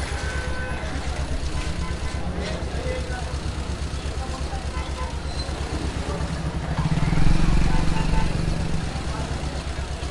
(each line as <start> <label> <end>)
0.0 salesmen are trying to sell their commodities 6.7
0.0 cars 10.1
0.0 tuktuks passing by 10.1
0.9 moped 10.1